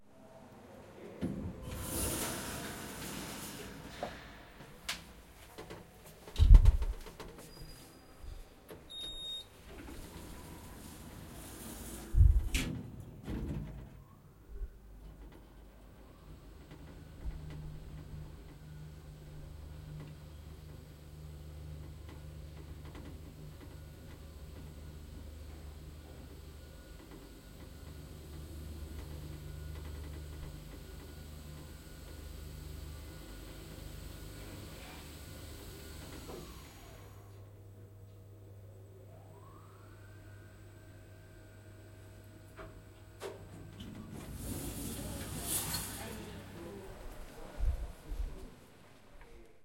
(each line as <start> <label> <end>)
1.2 elevator door 5.2
1.2 elevator 14.3
8.7 elevator door 14.2
15.0 elevator 37.5
39.0 elevator 47.6
43.2 elevator door 46.7